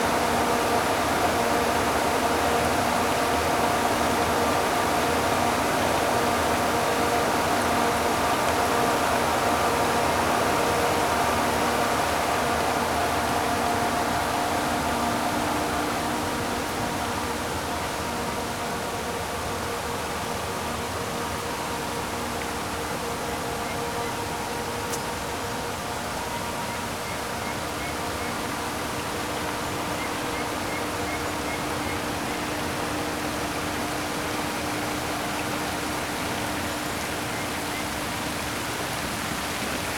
static hum of the pump distributing water 0:00.0 - 0:39.9

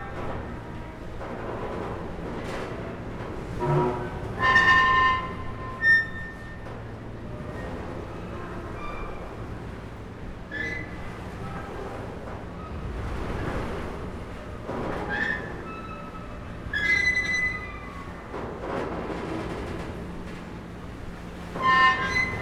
Ferry pontoon creaking with the waves 0:00.0 - 0:22.4

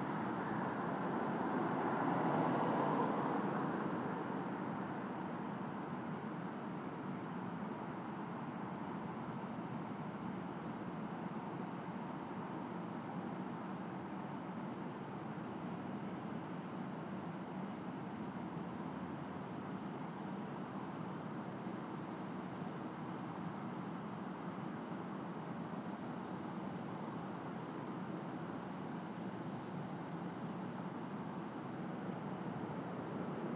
Cars 0:00.0 - 0:09.3

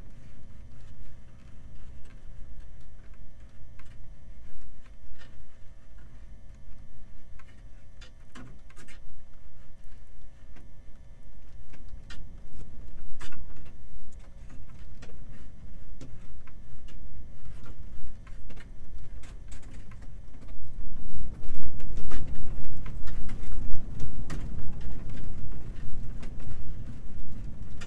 windy day 0:00.0 - 0:27.8

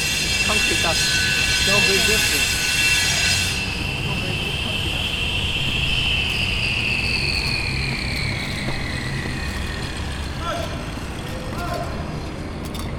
construction 0:00.0 - 0:12.9

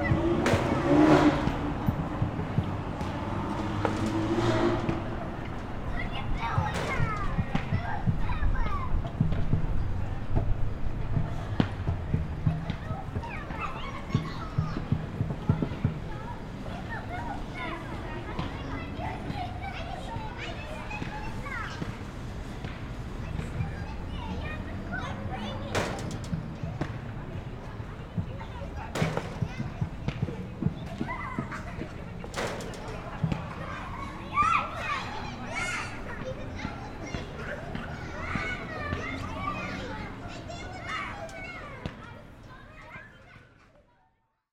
traffic 0:00.0 - 0:43.8
Kids playing 0:00.0 - 0:44.2

